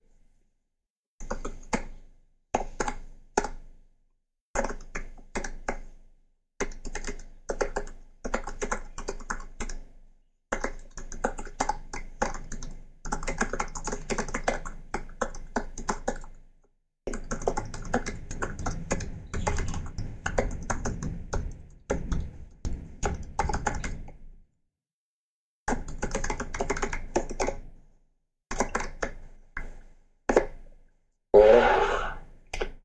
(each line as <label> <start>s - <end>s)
typing a mail with its MacBook Pro 10.5s - 16.3s
typing a mail with its MacBook Pro 17.1s - 22.3s
typing a mail with its MacBook Pro 25.7s - 27.6s